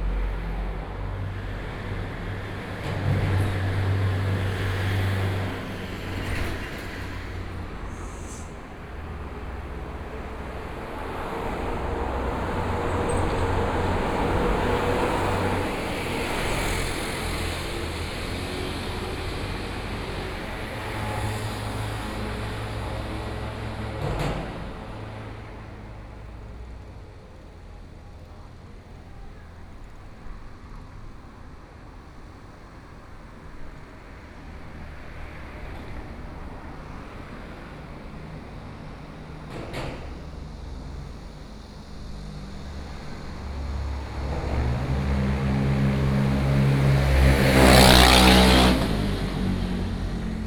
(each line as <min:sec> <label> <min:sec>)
0:00.0 Traffic Sound 0:50.4
0:00.0 Trains traveling through 0:50.4
0:40.1 Cicadas sound 0:46.4